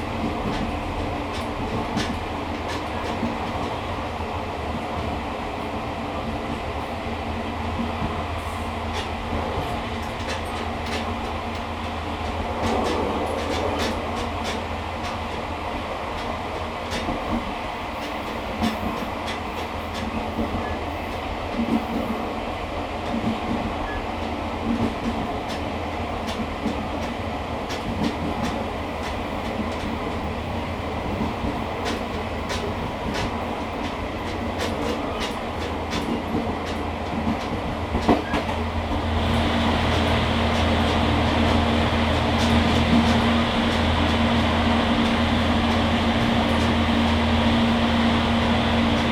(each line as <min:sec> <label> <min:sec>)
0:00.0 Train in the mountains 0:49.1